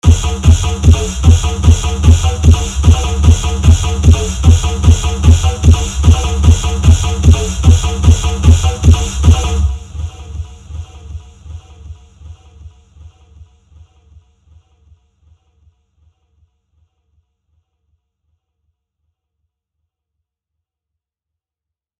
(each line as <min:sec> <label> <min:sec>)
0:00.0 russian song 0:13.3